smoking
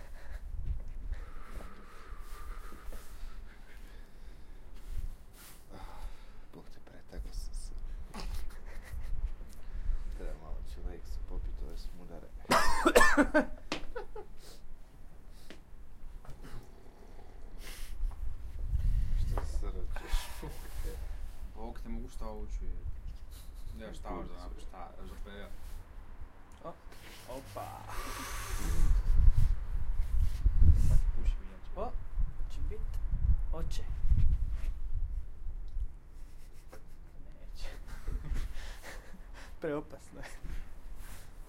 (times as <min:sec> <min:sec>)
0:16.2 0:19.2, 0:26.9 0:31.1